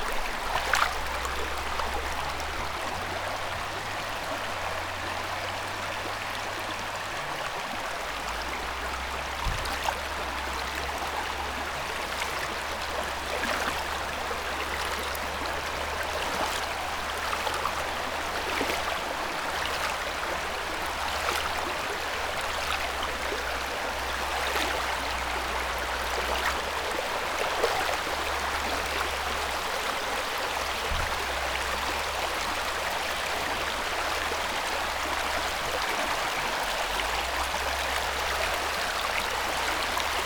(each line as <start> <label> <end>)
0.0 river flow 40.2